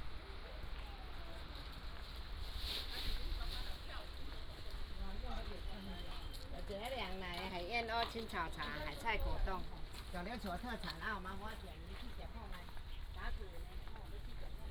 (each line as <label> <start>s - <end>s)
walking in the Abandoned military sites 4.0s - 14.7s